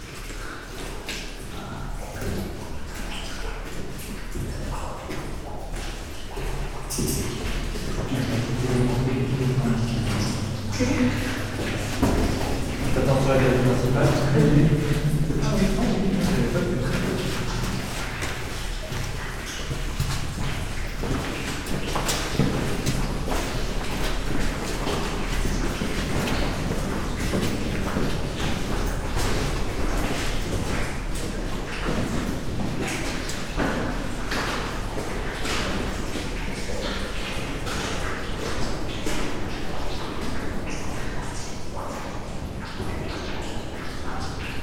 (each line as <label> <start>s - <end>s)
friends walking 7.2s - 31.0s